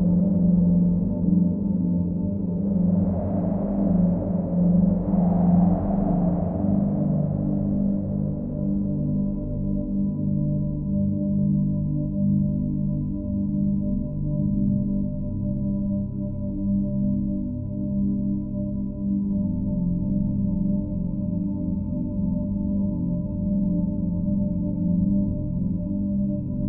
0.0s wind 10.1s
0.0s drone 11.3s

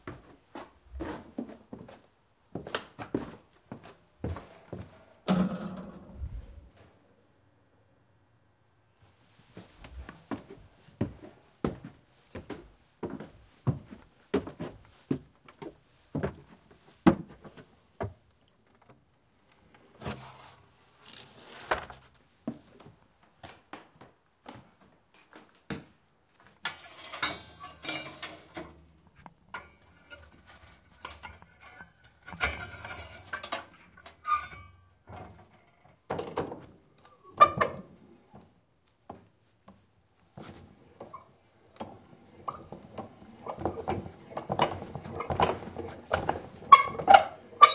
0.0s footsteps going up and down a wooden staircase 6.9s
9.5s footsteps going up and down a wooden staircase 19.1s
22.4s footsteps going up and down a wooden staircase 26.6s
36.1s footsteps going up and down a wooden staircase 47.7s
45.0s thumps and squeaks 47.7s

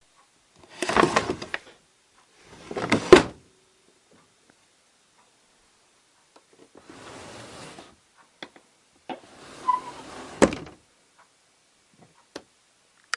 0.7s Opening/Closing drawer #2 1.8s
2.5s Opening/Closing drawer #2 3.4s
6.8s Opening/Closing drawer #2 8.0s
9.1s Opening/Closing drawer #2 10.8s

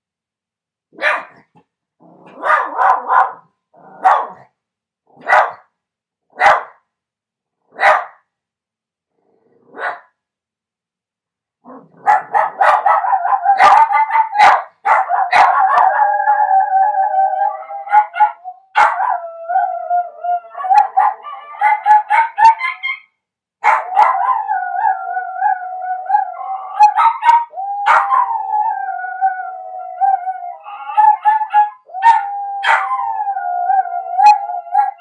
1.0s dog 1.4s
2.4s dog 3.4s
4.0s dog 4.4s
5.2s dog 5.6s
6.4s dog 6.8s
12.0s dog 15.9s

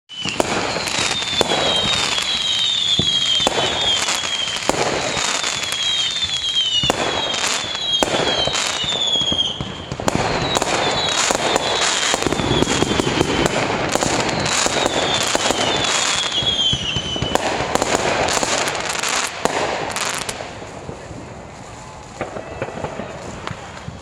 0.1s firework show 24.0s

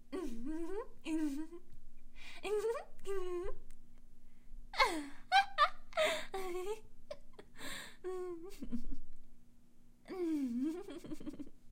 4.8s Girl Giggling 9.2s
10.1s Girl Giggling 11.6s

